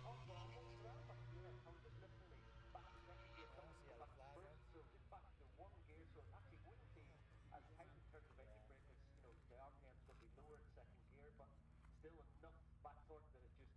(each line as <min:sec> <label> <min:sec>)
0:00.0 moto grand prix 0:04.9